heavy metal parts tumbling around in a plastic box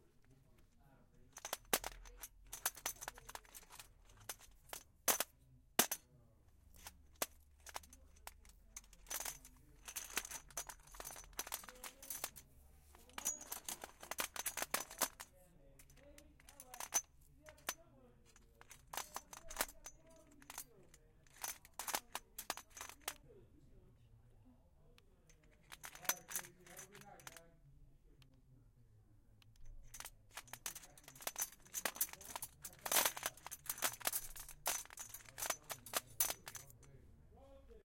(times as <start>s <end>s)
1.3s 6.0s, 6.7s 23.2s, 25.4s 27.4s, 29.7s 36.9s